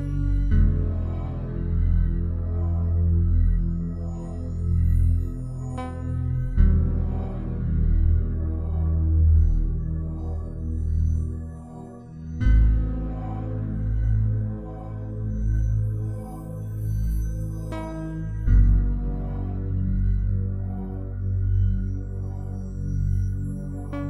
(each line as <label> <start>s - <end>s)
synthesizer 0.0s - 24.0s